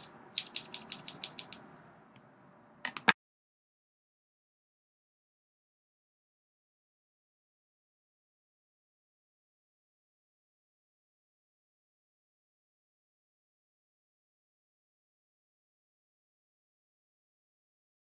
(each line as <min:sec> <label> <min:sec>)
0:00.0 Continuous scissor snipping 0:01.6